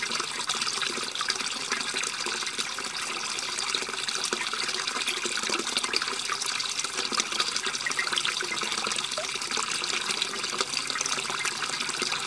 gurgling water river 3.6 - 12.2

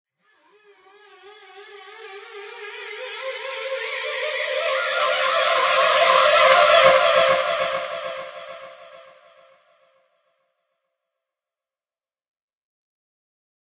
riser 1.1 - 9.5

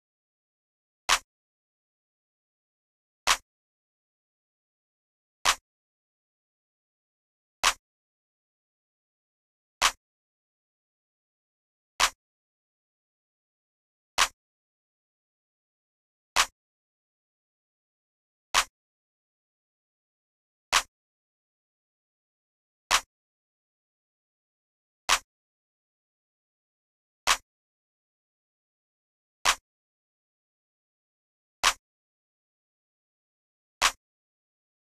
Clap 1.1 - 1.3
Clap 5.4 - 5.6
Clap 20.7 - 20.9
Clap 25.1 - 25.3
Clap 29.4 - 29.6

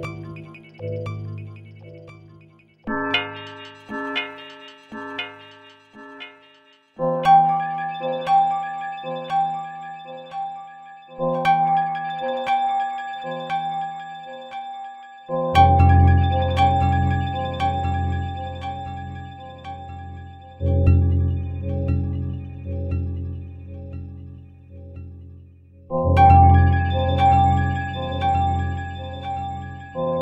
Doppler Bells 0.0 - 30.2

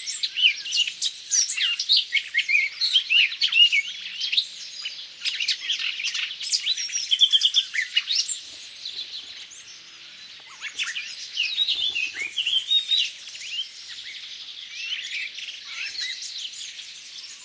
other birds in background 0.0 - 17.4
Blackcap singing amazingly 1.4 - 17.4

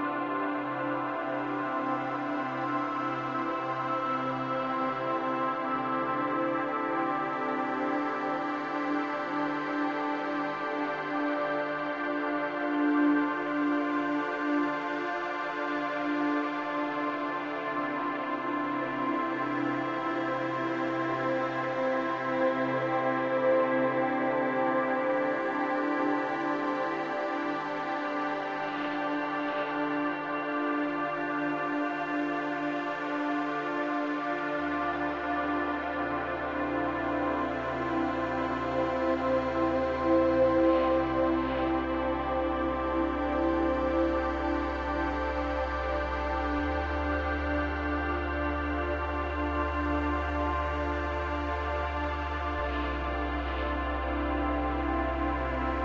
Warm and sad pad 0.0 - 55.8

